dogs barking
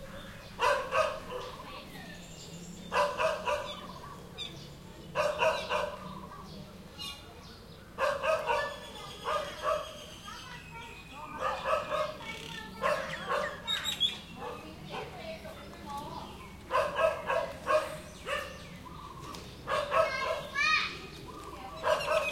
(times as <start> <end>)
0.5 1.6, 2.9 4.2, 5.1 6.4, 7.9 10.1, 11.3 15.2, 16.6 18.9, 19.6 20.8, 21.7 22.3